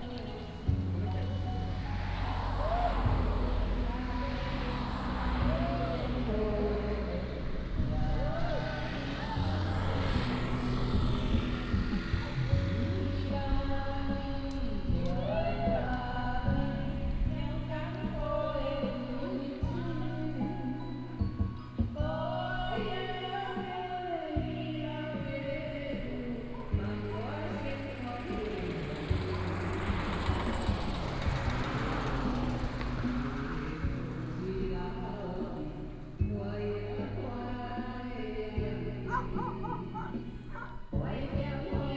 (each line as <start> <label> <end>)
0.0 Karaoke 41.9
0.0 Traffic sound 41.9
39.1 Dog barking 40.8